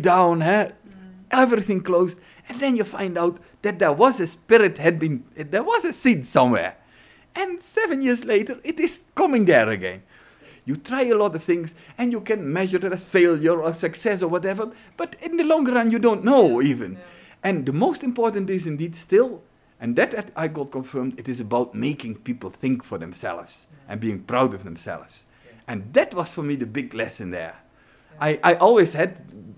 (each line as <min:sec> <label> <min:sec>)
0:00.0 interview 0:29.5